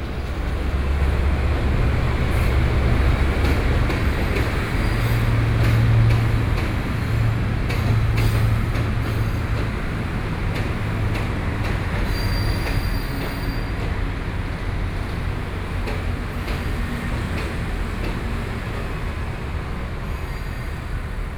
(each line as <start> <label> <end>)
0.0 Traffic Noise 21.3
0.0 Train traveling through 21.3